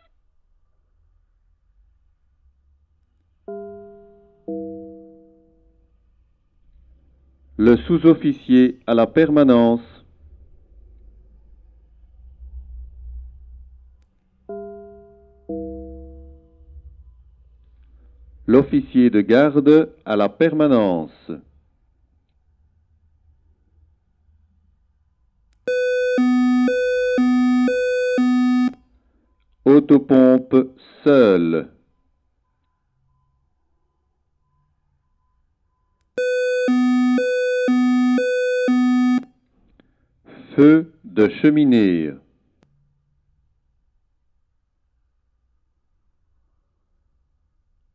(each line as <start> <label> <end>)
7.6 a voice says in french 10.0
18.5 a voice says in french 21.5
25.7 Fire brigade alarm 28.8
25.7 code (like a small song) 28.8
29.7 a voice says in french 31.8
36.2 Fire brigade alarm 39.2
36.2 code (like a small song) 39.2
40.3 a voice says in french 42.3